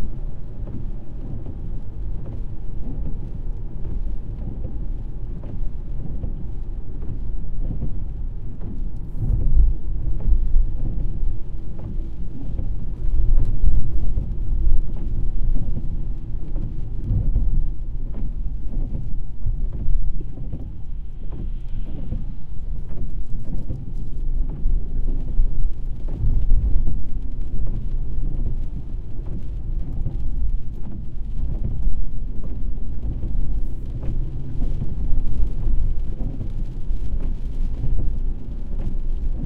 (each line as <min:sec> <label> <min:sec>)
0:00.0 driving car 0:39.4
0:00.0 rain 0:39.4
0:00.4 windshield wipers 0:39.4